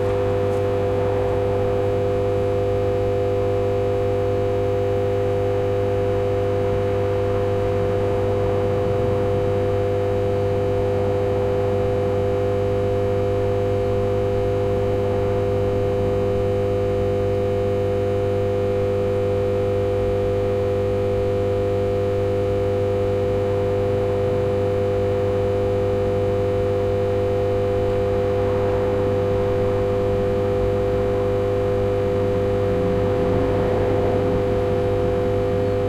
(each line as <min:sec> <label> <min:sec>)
0:00.0 electrical substation hum 0:35.8